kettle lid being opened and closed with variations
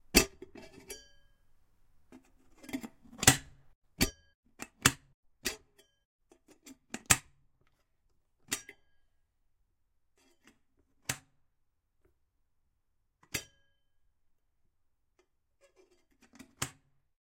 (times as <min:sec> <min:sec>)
0:00.1 0:01.0, 0:02.1 0:05.8, 0:06.4 0:07.4, 0:08.4 0:08.8, 0:10.4 0:11.4, 0:13.2 0:13.6, 0:15.2 0:17.0